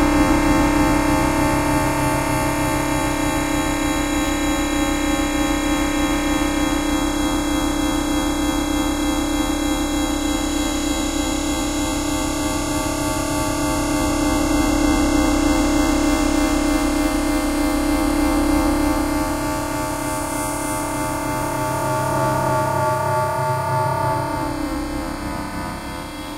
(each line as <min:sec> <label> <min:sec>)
0:00.0 ambient drone washes 0:07.2
0:15.4 ambient drone washes 0:26.3